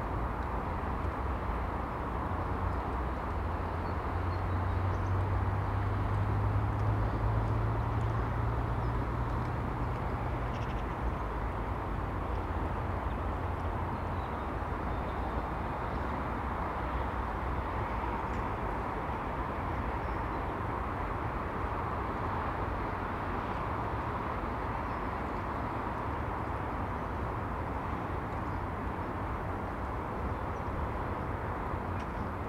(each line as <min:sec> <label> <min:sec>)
0:00.0 warm wind 0:32.4